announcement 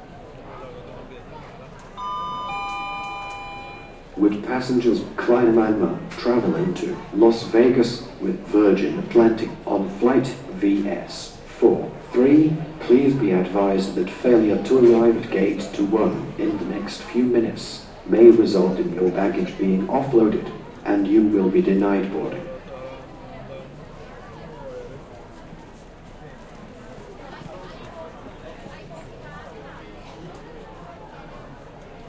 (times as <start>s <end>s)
1.9s 7.2s